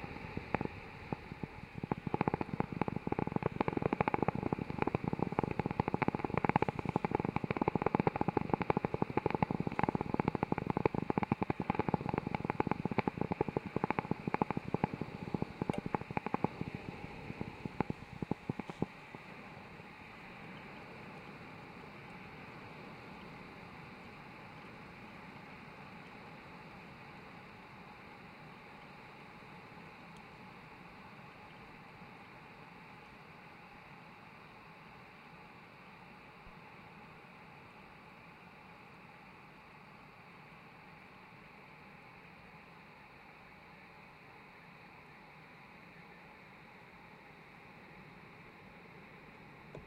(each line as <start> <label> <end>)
0.0 coffee brewing with an old filter machine 30.5
49.6 coffee brewing with an old filter machine 49.8